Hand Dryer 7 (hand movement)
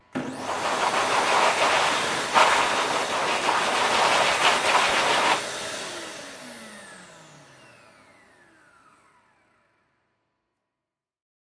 0:00.2 0:05.4

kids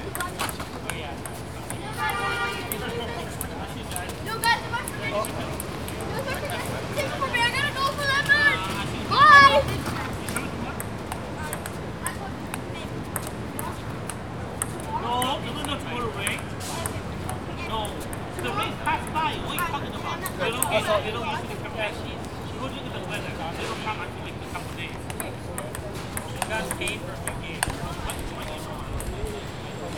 0:01.6 0:21.1

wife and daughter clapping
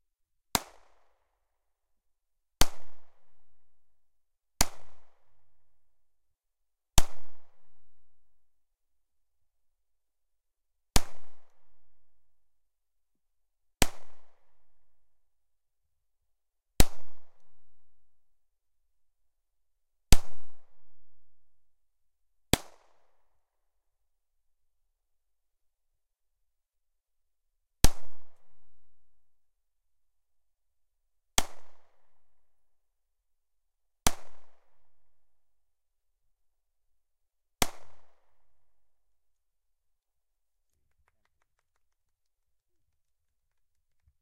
0:40.5 0:44.2

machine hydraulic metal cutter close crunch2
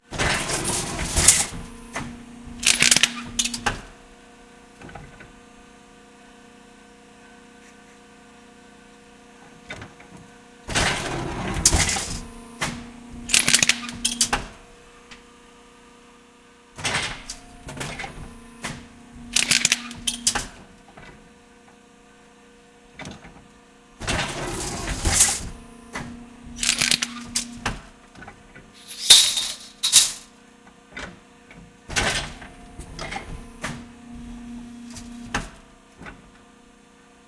0:00.2 0:03.8, 0:10.7 0:14.6, 0:16.8 0:20.6, 0:24.0 0:27.8, 0:28.8 0:30.3

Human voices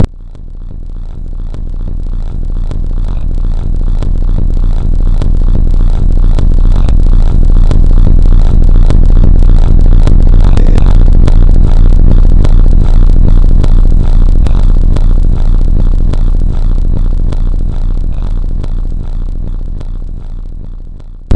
0:10.5 0:10.9

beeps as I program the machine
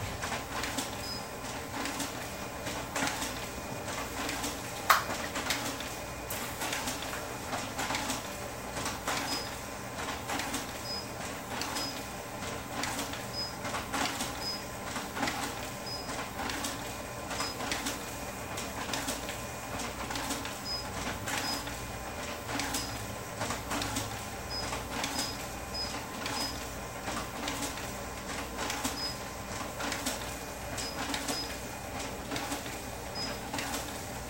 0:01.0 0:01.3, 0:09.2 0:09.5, 0:10.8 0:11.1, 0:11.8 0:12.0, 0:13.3 0:13.6, 0:14.4 0:14.6, 0:15.8 0:16.1, 0:20.6 0:21.6, 0:24.5 0:26.6, 0:28.9 0:29.2, 0:33.2 0:33.4

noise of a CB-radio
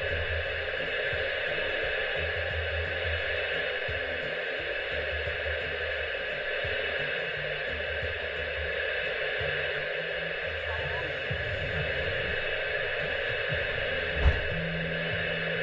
0:06.5 0:15.6

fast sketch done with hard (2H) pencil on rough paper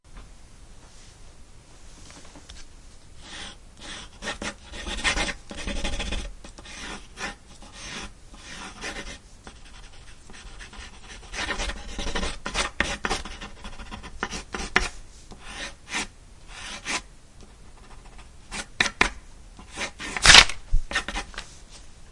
0:03.2 0:17.0, 0:17.7 0:21.3

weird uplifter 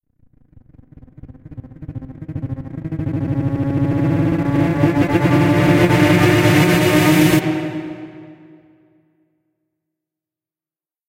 0:02.0 0:08.8

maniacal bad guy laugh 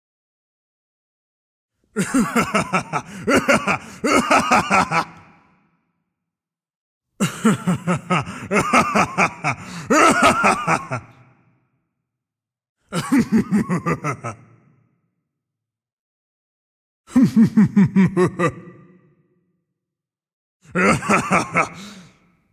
0:02.0 0:05.3, 0:07.2 0:11.2, 0:13.0 0:14.5, 0:17.1 0:18.8, 0:20.8 0:22.1

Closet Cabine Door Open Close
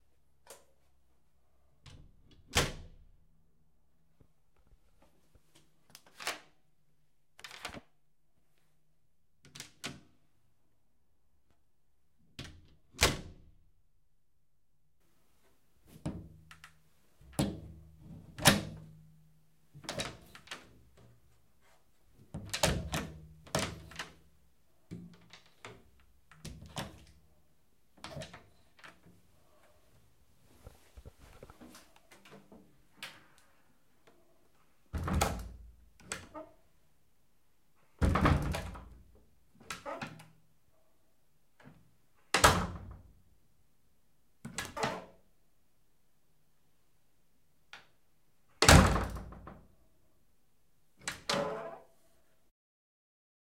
0:35.0 0:36.6, 0:38.0 0:39.0, 0:39.6 0:40.3, 0:44.5 0:45.2, 0:51.0 0:51.9

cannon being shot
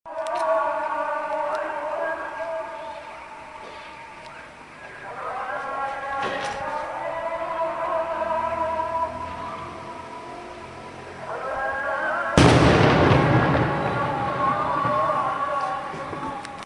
0:12.4 0:15.5

